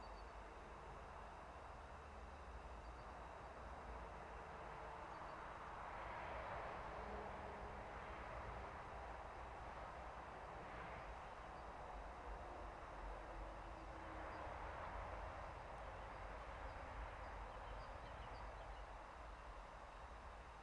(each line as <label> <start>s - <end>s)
cars droning in the distance 0.0s - 20.6s
natural gas reduction station drone 0.0s - 20.6s
passenger train passing by 3.8s - 19.3s